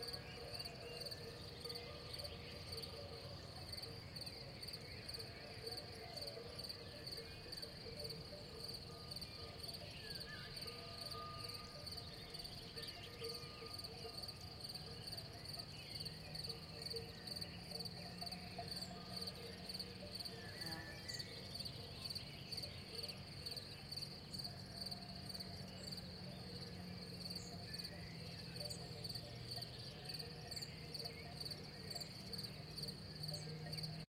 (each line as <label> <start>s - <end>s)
Distant cow bells 0.0s - 34.1s
Far away car 0.0s - 34.1s
birds 0.0s - 34.1s
crickets 0.0s - 34.1s
insects 0.0s - 34.1s